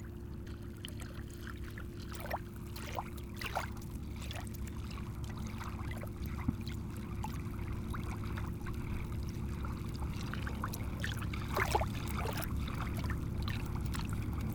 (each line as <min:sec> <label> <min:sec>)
0:00.0 small waves 0:14.5